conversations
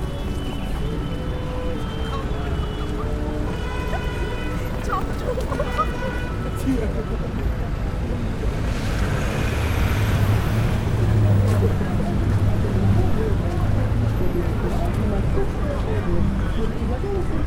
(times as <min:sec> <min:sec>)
0:03.2 0:08.8, 0:10.0 0:17.4